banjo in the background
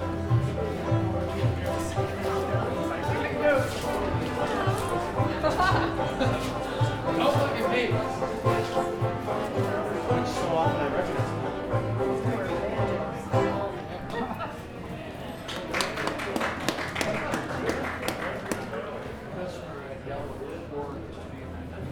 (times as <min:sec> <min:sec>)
0:00.0 0:14.4